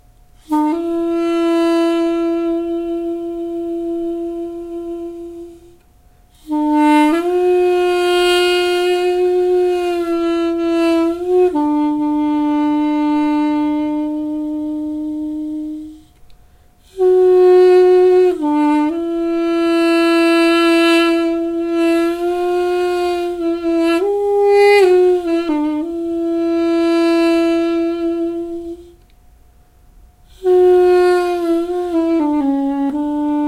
duduk 0:00.4 - 0:05.8
duduk 0:06.6 - 0:16.1

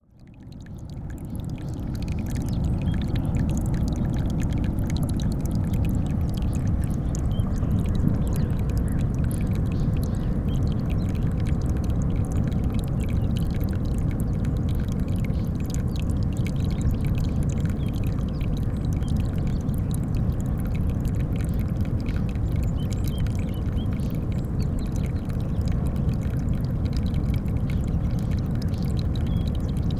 trickling stream 0:00.0 - 0:29.9

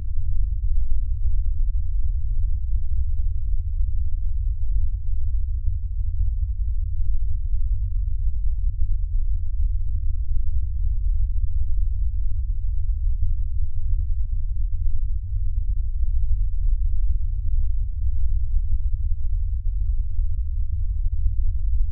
low rumble 0:00.0 - 0:21.9

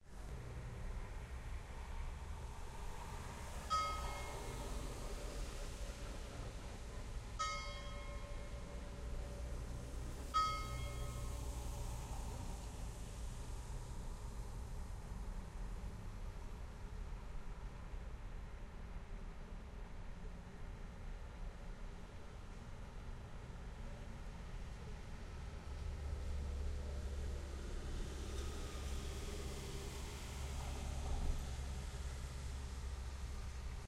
church bells 0:03.7 - 0:04.5
church bells 0:07.4 - 0:08.8
church bells 0:10.4 - 0:11.4

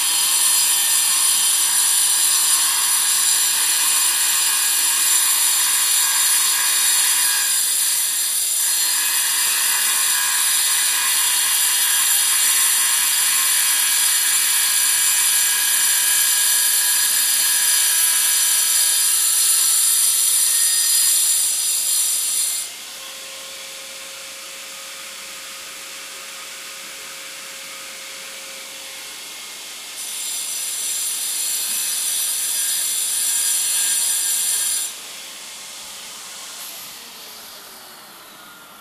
circular saw 0:00.0 - 0:38.8

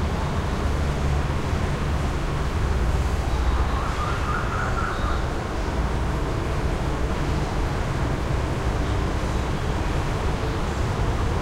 traffic 0:00.0 - 0:11.4

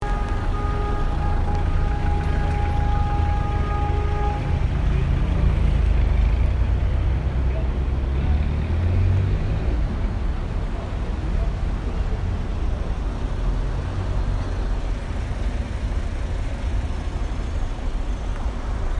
cars 0:00.0 - 0:18.9
horns 0:00.0 - 0:06.5

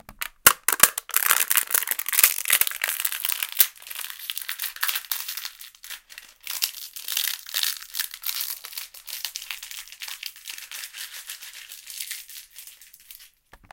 plastic cup smashed 0:00.1 - 0:03.8

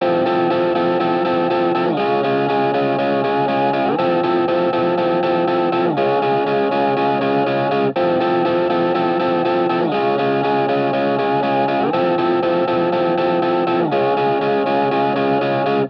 electricguitar 0:00.0 - 0:15.8

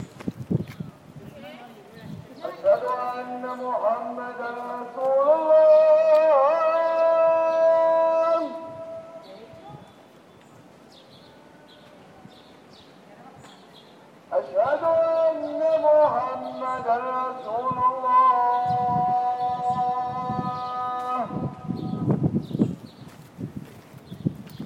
call to prayer 0:00.0 - 0:22.5

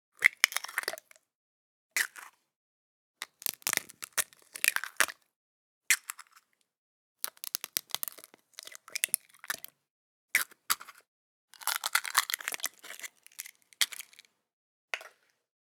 Cracking some eggs into a bowl 0:03.3 - 0:04.3
Cracking some eggs into a bowl 0:07.3 - 0:08.3

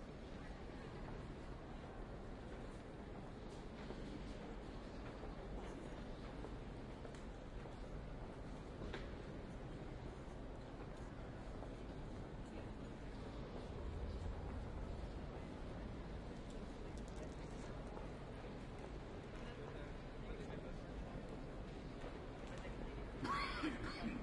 crowd 0:00.0 - 0:24.2

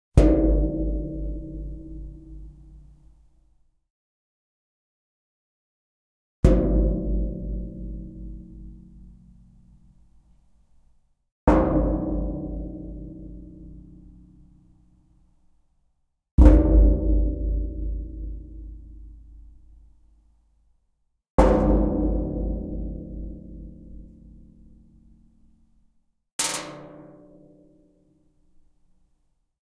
dropping a coin onto the same spot 0:26.4 - 0:26.9

